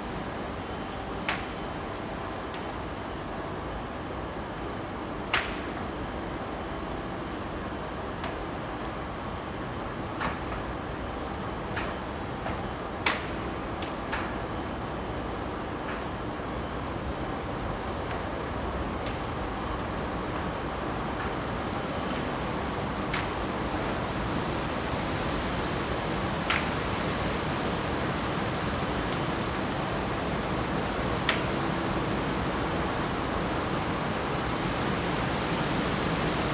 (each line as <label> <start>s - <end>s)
very windy morning 14.6s - 36.5s